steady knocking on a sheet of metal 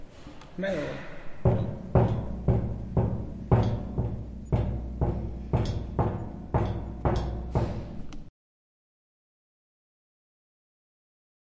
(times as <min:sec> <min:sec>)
0:01.4 0:08.3